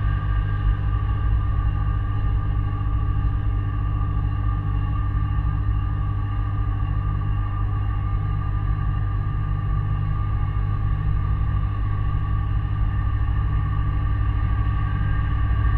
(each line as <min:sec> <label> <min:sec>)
0:00.0 Steady droning hum 0:15.7